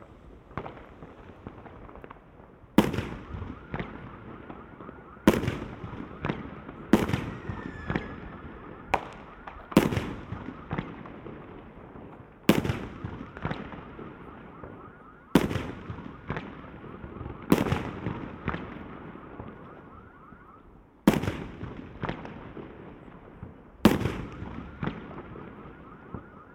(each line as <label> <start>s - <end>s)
fireworks 0.0s - 26.5s